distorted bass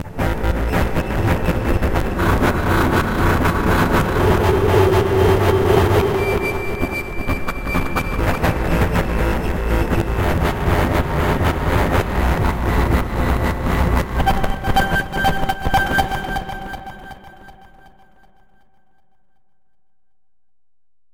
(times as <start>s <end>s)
0.0s 16.1s